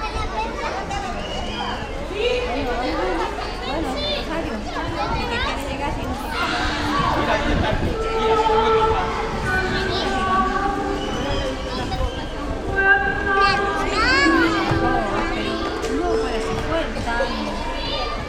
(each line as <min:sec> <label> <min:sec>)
0:00.0 children 0:18.2
0:07.9 music 0:18.2